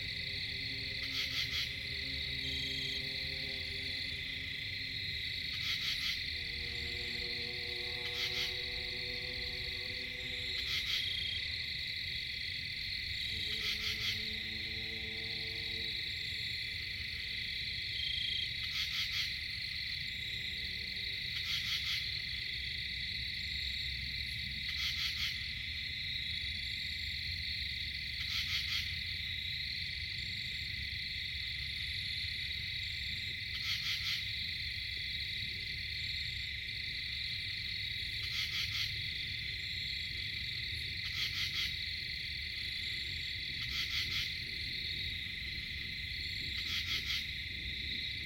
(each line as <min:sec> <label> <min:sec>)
0:00.0 hypnotic insect chatter 0:48.2
0:00.0 long-ranged traffic noise 0:48.2
0:05.4 screech owl 0:11.5
0:13.3 screech owl 0:14.6